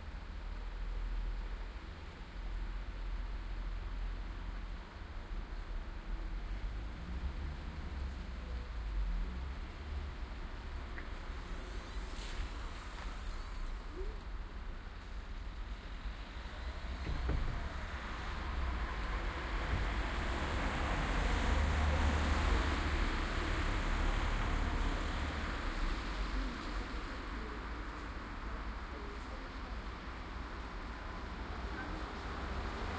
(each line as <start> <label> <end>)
3.8 cars 32.9
7.9 people walking by 32.9